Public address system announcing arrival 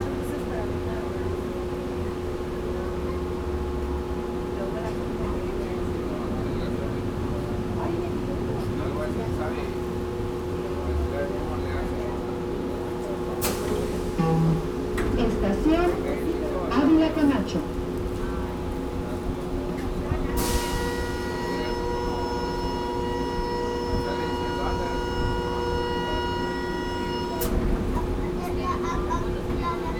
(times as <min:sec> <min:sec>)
0:13.2 0:27.6